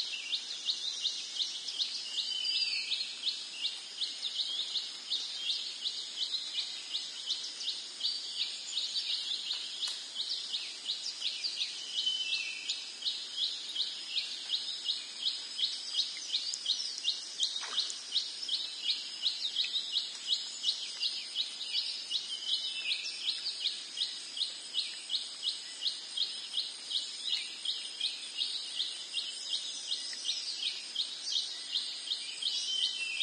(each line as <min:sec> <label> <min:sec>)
0:00.0 crickets 0:33.2
0:09.5 water drops on plants 0:10.0
0:16.4 water drops on plants 0:18.2